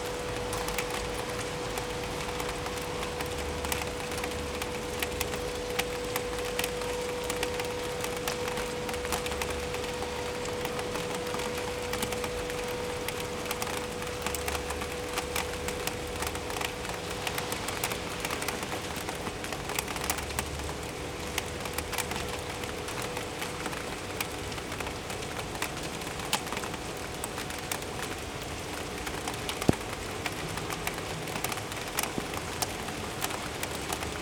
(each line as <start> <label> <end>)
0.0 rain 34.2